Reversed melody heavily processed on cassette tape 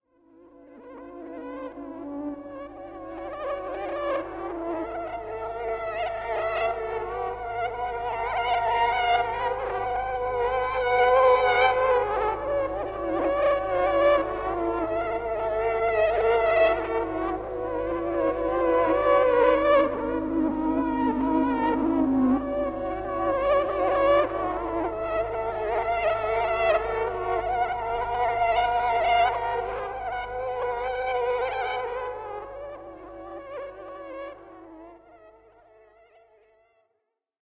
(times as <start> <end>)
18.2 24.4